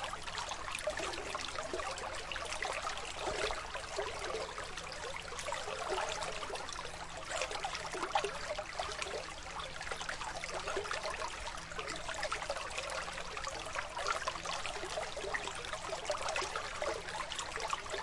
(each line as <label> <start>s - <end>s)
brook gurgling 0.0s - 18.0s